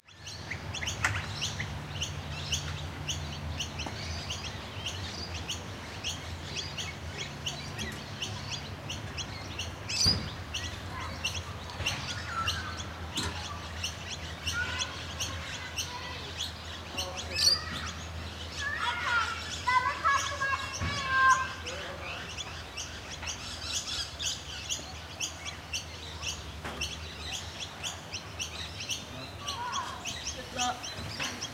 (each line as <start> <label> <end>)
0.1 magpies 31.5
0.1 rainbow lorikeet 31.5
0.1 children 31.5